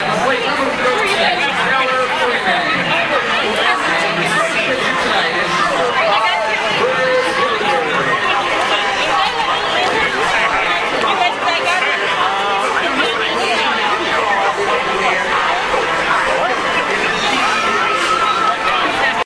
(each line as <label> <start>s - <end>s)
crowd noise 0.0s - 19.2s